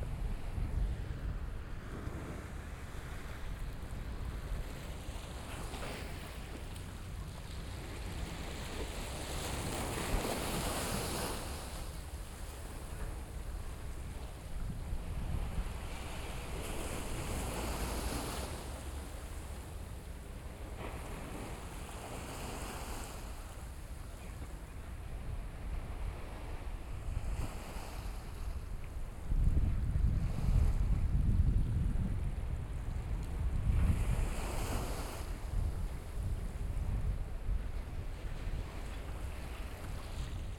waves 0.0 - 40.5

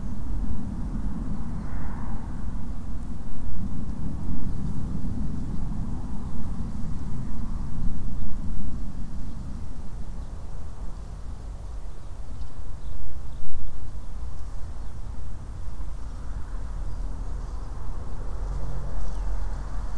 traffic 0.0 - 12.2
breeze blowing through the grasses and plants 0.0 - 19.9
distant planes 0.0 - 19.9
birds 9.2 - 19.9
traffic 13.9 - 19.9

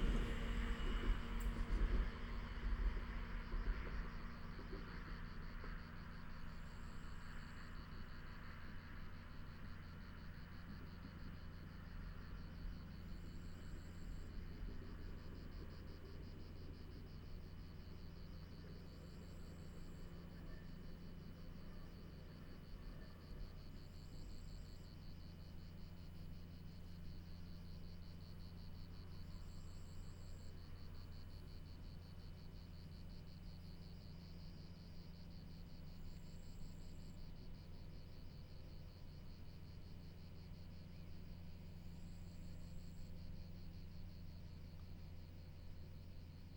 electric passenger train 0.0 - 7.5
Electric locomotive 0.0 - 7.6

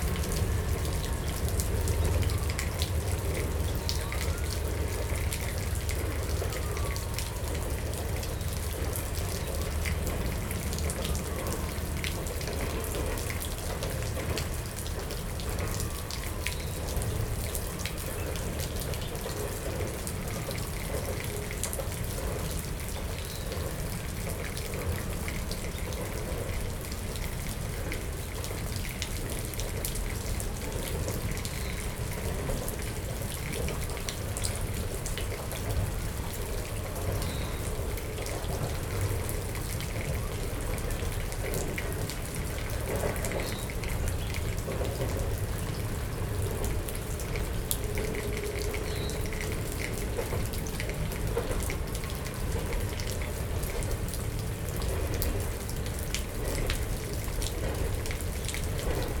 sirens 0.0 - 23.2
Dripping Rain 0.0 - 59.2
trains rumble slowly by in the near distance 0.0 - 59.2
sirens 26.3 - 52.9

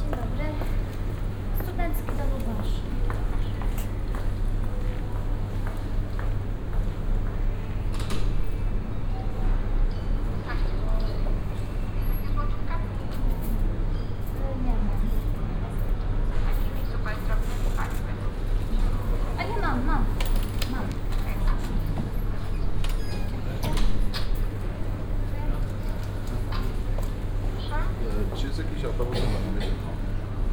shopping center sounds coming from afar 0.0 - 30.5
people purchasing tickets 7.8 - 30.5
ticket sales person talking to them through a speaker 16.6 - 22.3
ticket sales person talking to them through a speaker 25.0 - 30.4

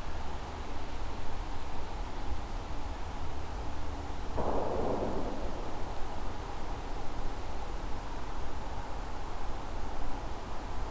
Gunshot 4.4 - 6.4

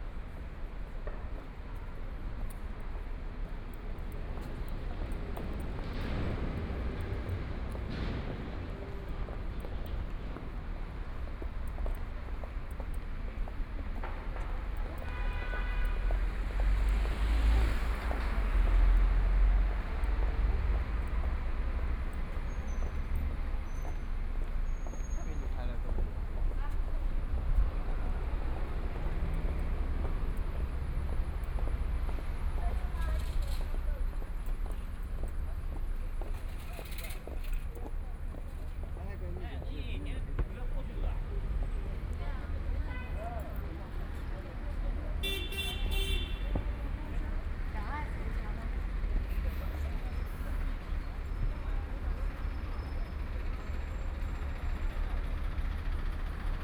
Traffic Sound 0.0 - 56.6

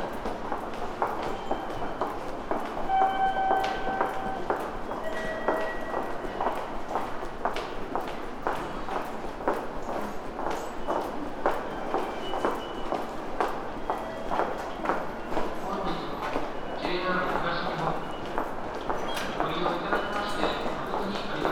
steps 0.0 - 17.0
subway voices 0.0 - 21.5

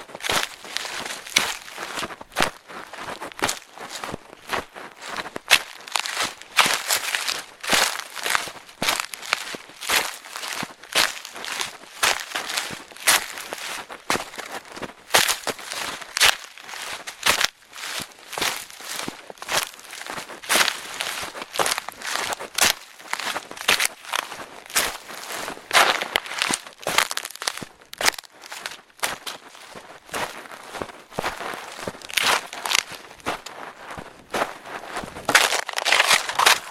walking on the straws and garbage 0.0 - 36.7

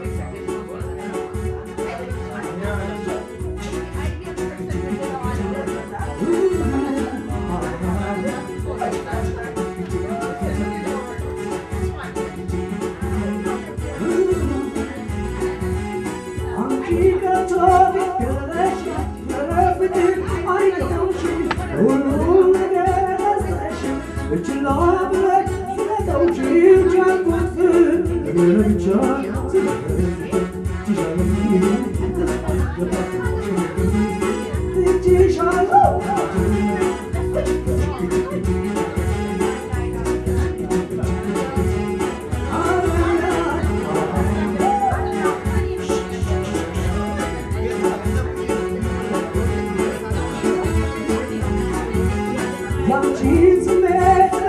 most old man sings and dances 0.0 - 54.4

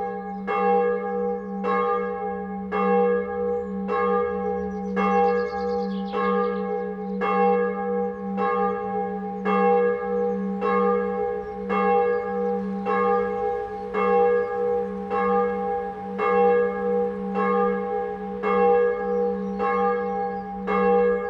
traffic 11.1 - 18.4

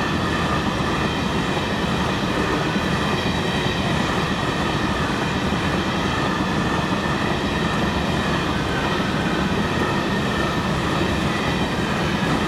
passage train de marchandise 0.0 - 12.4

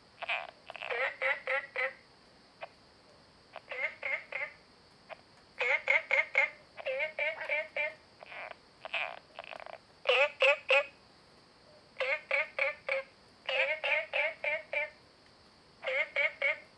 Frogs chirping 0.2 - 2.0
Frogs chirping 3.5 - 11.0
Frogs chirping 12.0 - 15.0
Frogs chirping 15.8 - 16.7

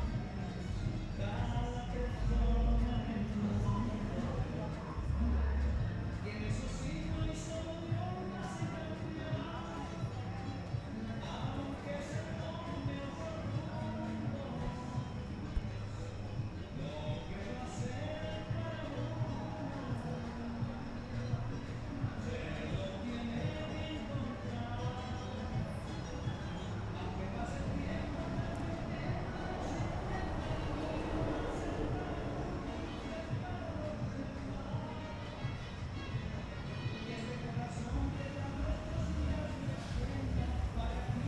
Alarma 0.0 - 41.2
música de un bar cercano 0.0 - 41.2

